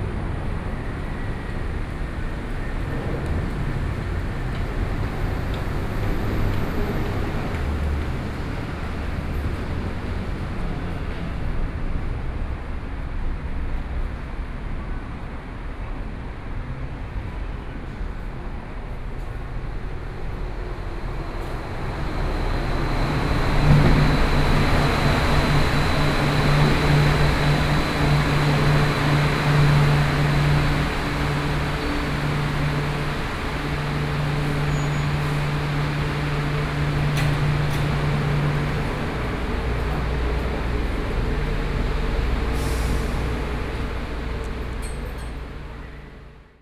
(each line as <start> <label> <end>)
0.0 traffic sound 12.0
19.1 traffic sound 46.6